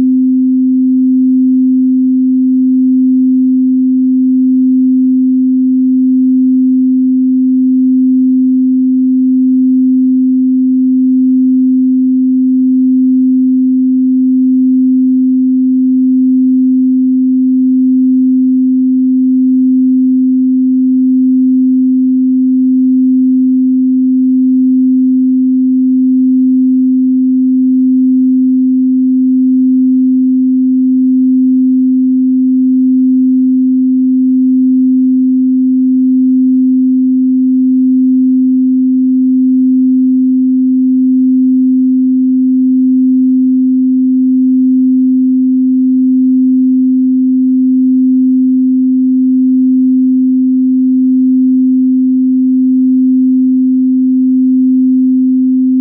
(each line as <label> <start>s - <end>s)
Pure Sine Wave 0.0s - 55.8s